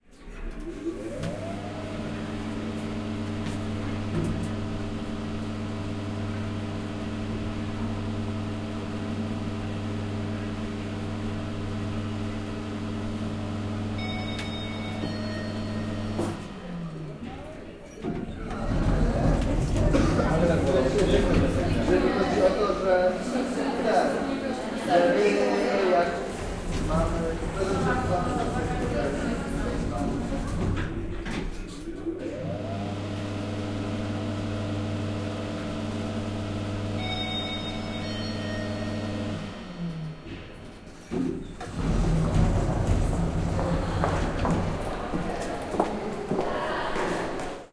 elevator 0:00.2 - 0:23.5
doors 0:14.0 - 0:22.7
elevator 0:24.3 - 0:46.4
drone 0:37.0 - 0:41.0
doors 0:37.0 - 0:47.7

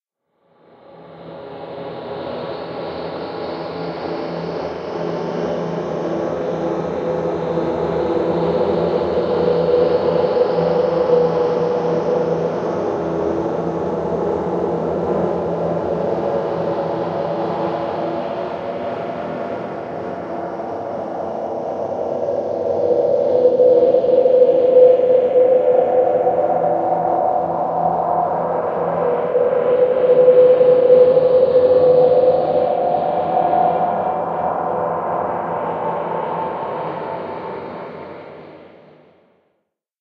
occasional higher pitches swells 0:21.6 - 0:38.2

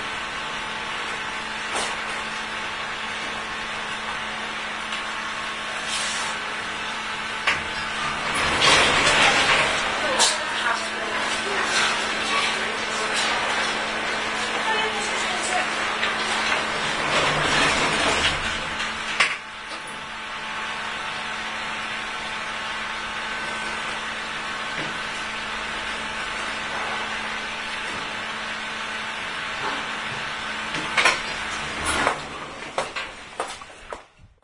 elevator 0:00.0 - 0:34.2

